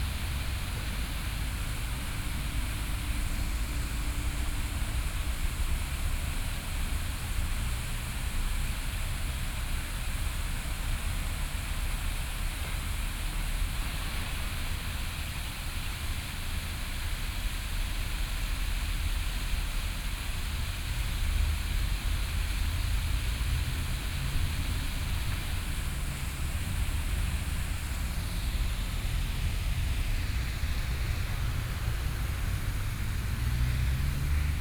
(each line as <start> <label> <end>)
22.8 Traffic Sound 34.6